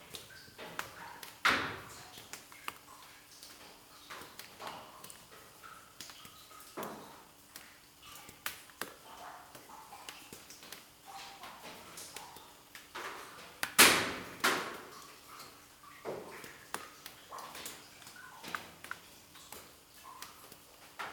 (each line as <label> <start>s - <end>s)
small drops are falling 0.0s - 21.1s